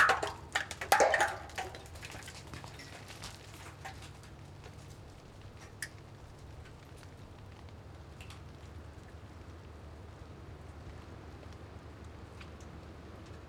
Ice falling from tower 0:00.0 - 0:02.5

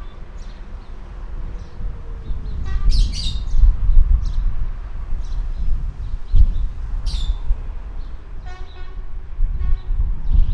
Birds 0:00.0 - 0:04.5
Wind 0:00.0 - 0:10.5
Birds 0:05.2 - 0:09.0

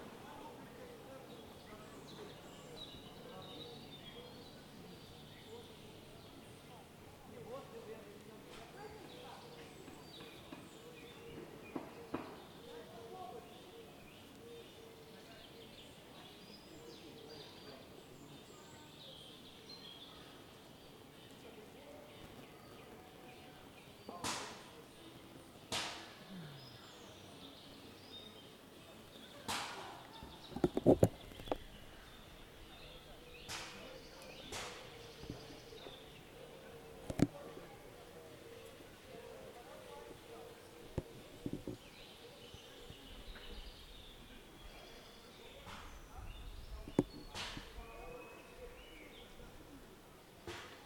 cyclists 0:00.0 - 0:50.8

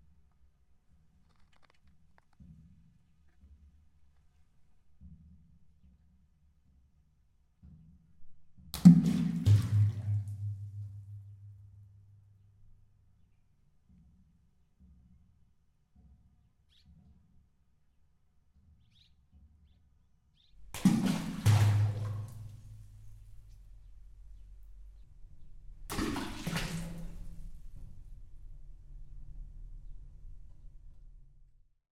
Rock drops on Evoramonte castle wells 0:08.8 - 0:11.0
Rock drops on Evoramonte castle wells 0:20.7 - 0:23.0

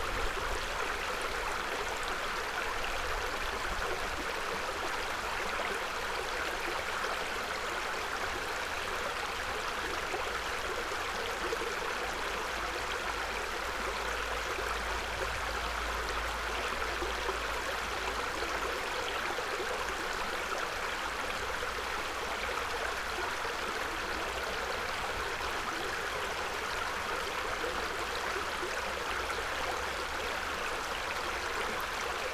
little creek 0:00.0 - 0:32.3

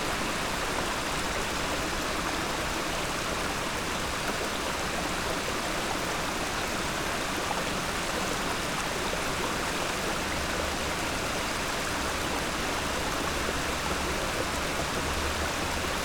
waterflow under the stony bridge 0:00.0 - 0:16.0

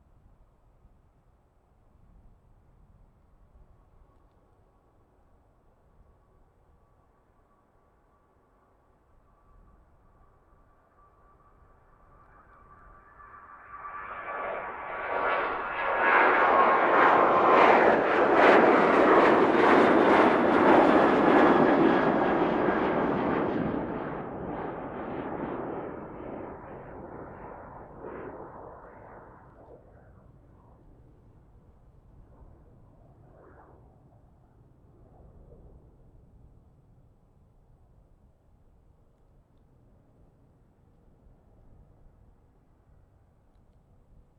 Landings and takeoffs 0:11.0 - 0:34.1

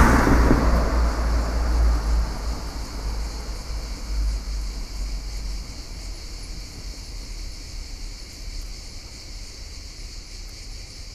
car 0:00.0 - 0:08.7
cicadas 0:00.0 - 0:11.1

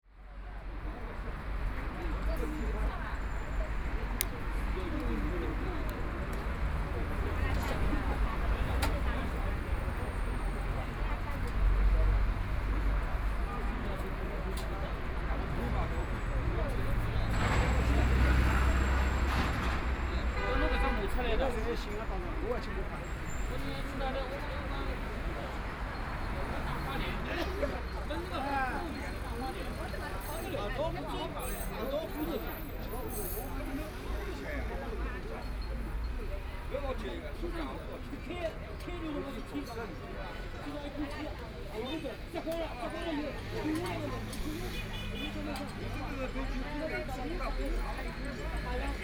crowd gathered at the intersection of voice conversations 0:00.0 - 0:49.0
Traffic Sound 0:00.1 - 0:49.0

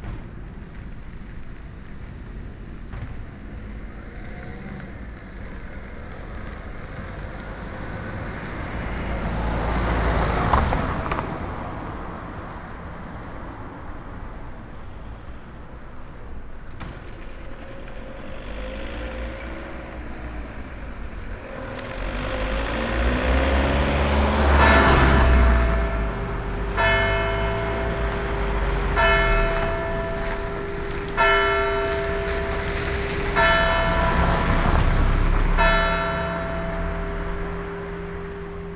the bells 0:21.4 - 0:38.7

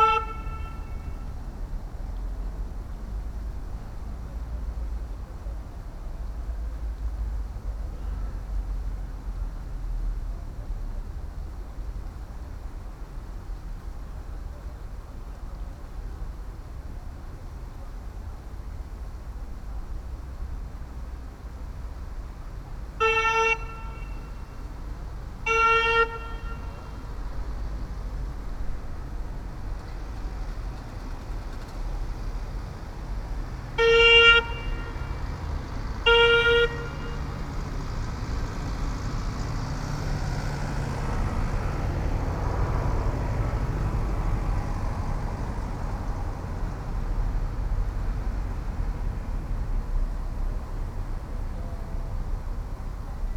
horn sound 0:00.0 - 0:01.3
horn sound 0:23.0 - 0:24.6
horn sound 0:25.4 - 0:27.1
horn sound 0:33.8 - 0:37.4

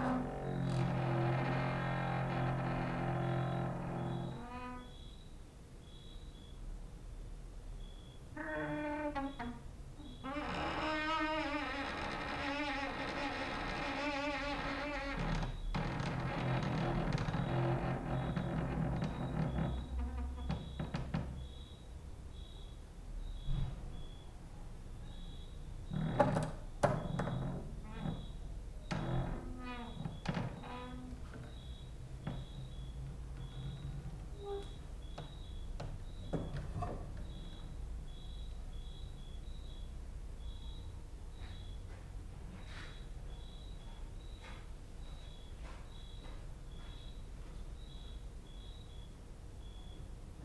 creaking with wooden doors 0:00.0 - 0:05.2
cricket outside 0:03.0 - 0:06.7
cricket outside 0:07.8 - 0:24.4
creaking with wooden doors 0:07.9 - 0:21.8
cricket outside 0:25.0 - 0:47.2
creaking with wooden doors 0:25.1 - 0:39.8
cricket outside 0:47.8 - 0:50.2

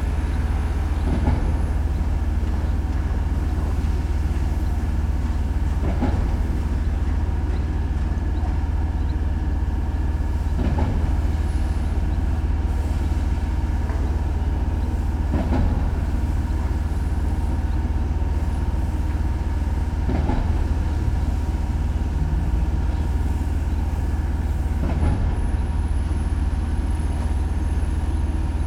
generators 0:00.0 - 0:28.6
thump of the machines 0:15.3 - 0:15.9
thump of the machines 0:20.1 - 0:20.6

